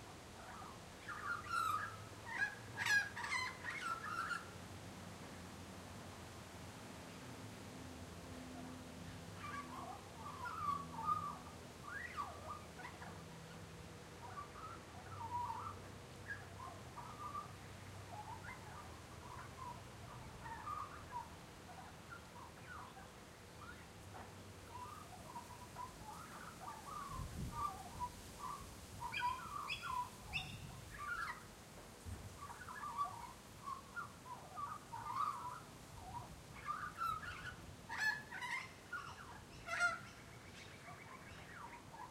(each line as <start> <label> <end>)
0.0 wind in the trees 42.1
24.7 Warbling Magpie 31.4